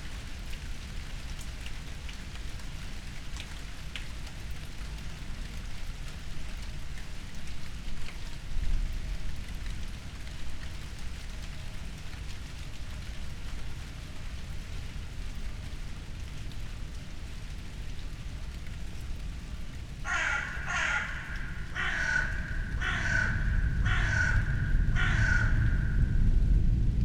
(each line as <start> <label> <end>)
0.0 wind 27.0
20.0 crows 26.2
20.1 dry leaves 23.3